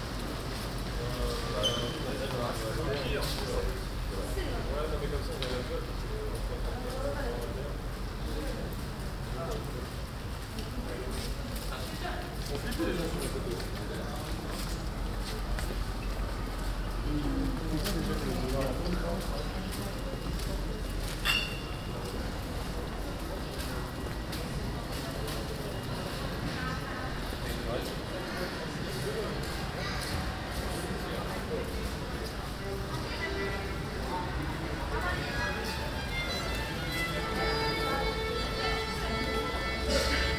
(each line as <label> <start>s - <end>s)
cyclists 0.0s - 37.1s
Pedestrians 0.0s - 40.3s
violist 34.6s - 40.3s